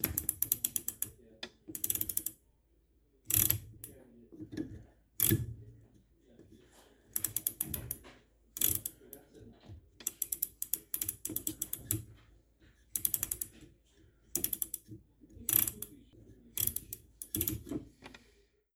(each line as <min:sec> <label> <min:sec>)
0:00.0 washing machine ratchet dial turning 0:02.4
0:03.3 washing machine ratchet dial turning 0:05.6
0:07.1 washing machine ratchet dial turning 0:09.3
0:10.0 washing machine ratchet dial turning 0:12.2
0:12.8 washing machine ratchet dial turning 0:13.7
0:14.3 washing machine ratchet dial turning 0:18.2